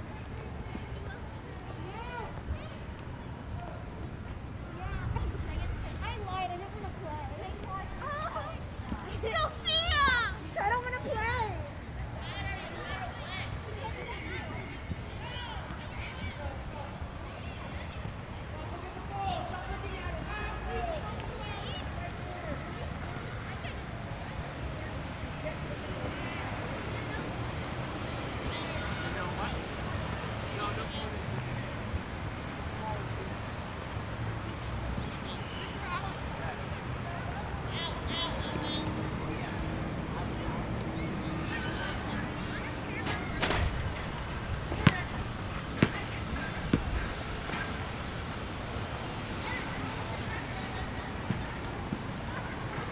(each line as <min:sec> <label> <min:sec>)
0:05.1 children playing basketball 0:24.8
0:26.1 children playing basketball 0:31.3
0:40.3 children playing basketball 0:52.9